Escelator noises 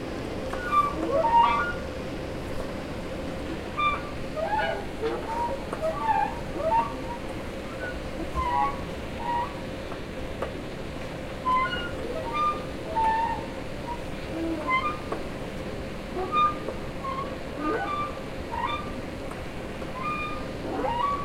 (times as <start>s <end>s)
16.1s 21.2s